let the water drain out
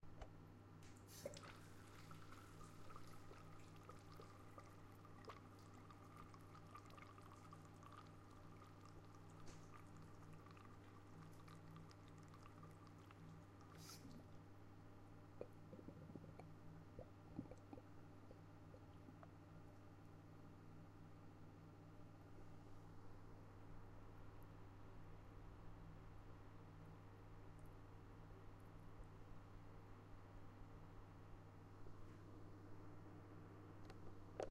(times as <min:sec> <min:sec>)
0:00.9 0:14.5